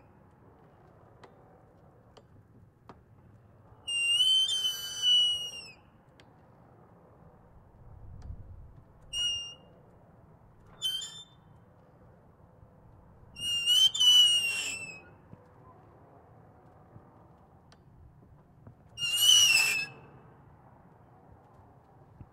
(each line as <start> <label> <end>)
9.1 Squeaking Exterior Door 9.7
10.6 Squeaking Exterior Door 11.5